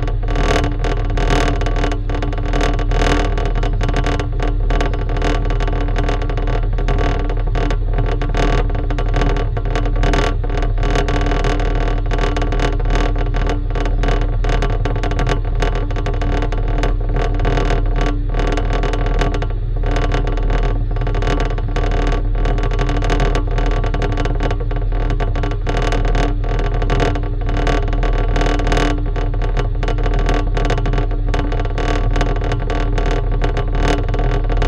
0.0s vibrating plate of an air circulation unit 34.6s

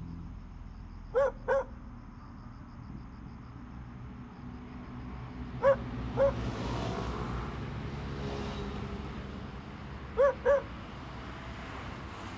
1.2s dog 1.8s
5.6s dog 6.4s
10.2s dog 10.7s

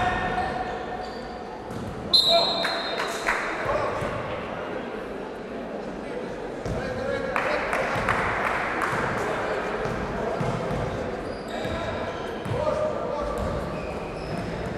1.6s basketball 2.1s
6.6s basketball 6.9s
9.8s basketball 14.7s

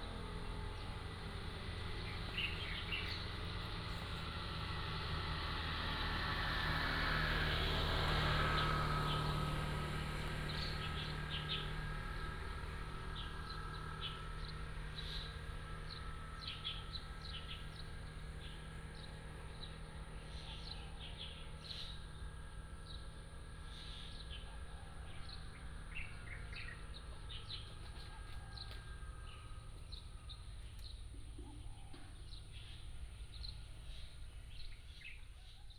0.2s Birds singing 4.3s
8.4s Birds singing 35.7s

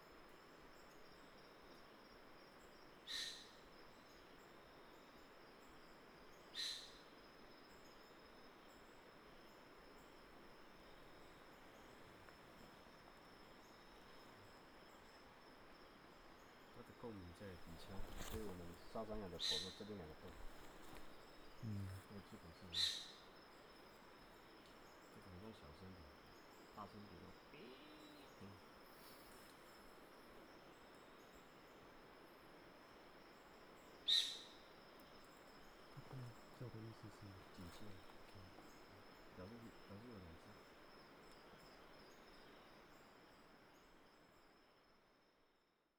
17.6s Footsteps 19.1s
20.2s Footsteps 21.2s

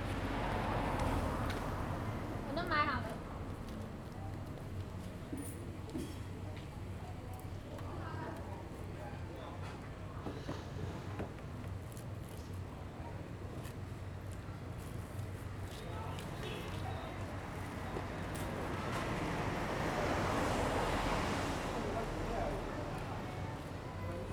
0.0s Traffic Sound 5.5s
13.8s Traffic Sound 24.3s

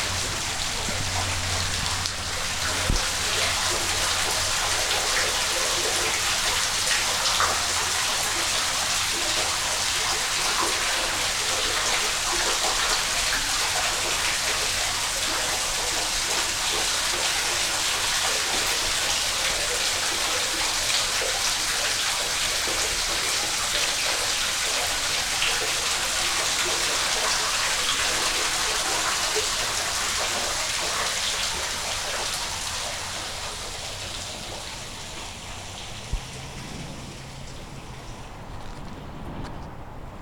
0.0s water 40.2s

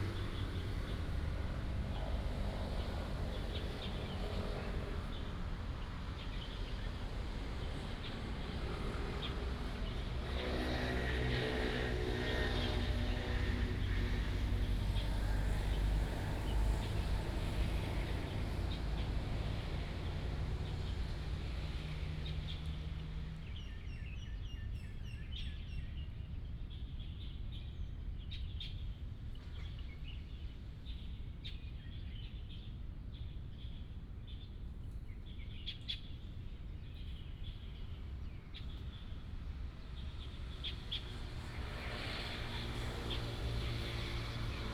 37.7s Traffic sound 44.7s

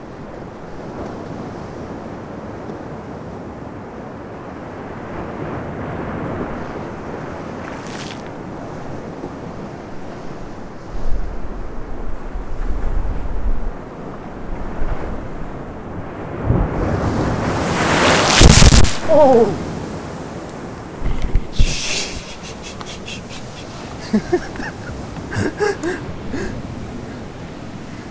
4.8s waves splashing onto this rockpool 9.7s
15.2s waves splashing onto this rockpool 22.3s

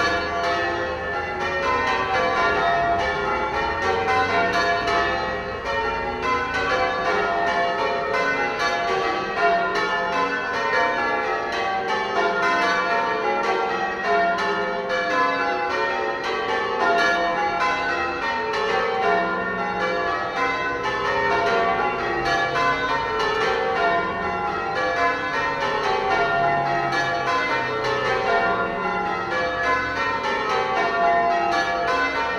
0.0s bells ringing 32.3s

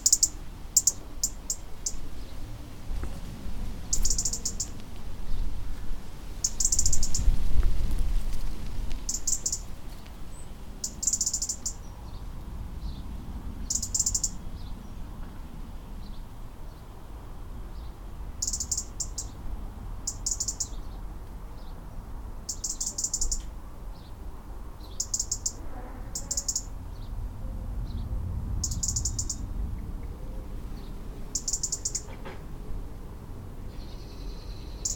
0.0s alarm call of an angry robin 2.0s
3.9s alarm call of an angry robin 4.8s
6.4s alarm call of an angry robin 7.3s
9.1s alarm call of an angry robin 9.7s
10.8s alarm call of an angry robin 11.8s
13.6s alarm call of an angry robin 14.4s
18.4s alarm call of an angry robin 19.4s
20.1s alarm call of an angry robin 20.8s
22.5s alarm call of an angry robin 23.4s
24.9s alarm call of an angry robin 26.7s
28.6s alarm call of an angry robin 29.4s
31.3s alarm call of an angry robin 32.1s

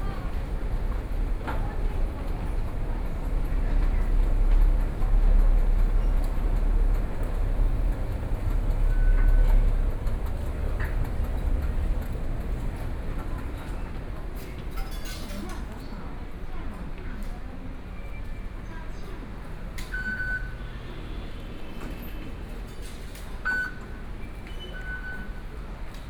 0.0s Traffic Sound 14.8s

